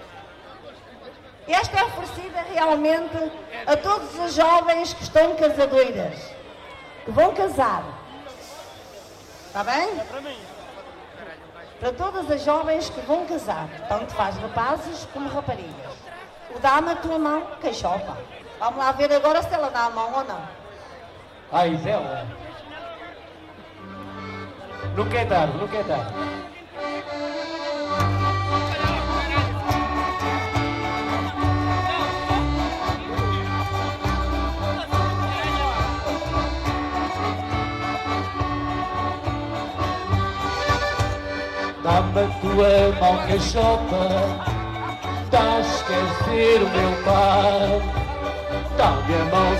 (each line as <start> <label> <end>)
23.6 Folk band family 49.5